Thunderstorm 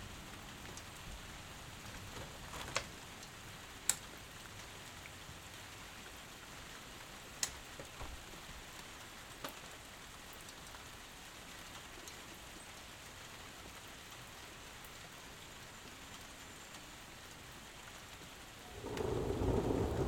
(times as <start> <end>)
18.6 20.0